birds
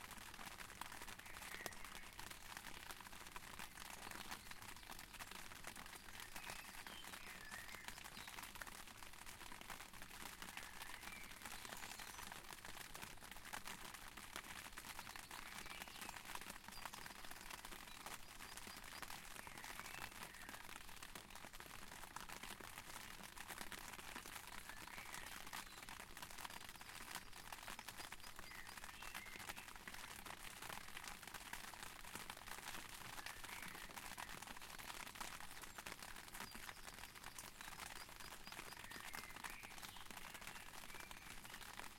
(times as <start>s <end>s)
1.0s 2.5s, 3.5s 8.7s, 10.4s 12.6s, 14.6s 21.3s, 24.3s 31.0s, 33.2s 41.9s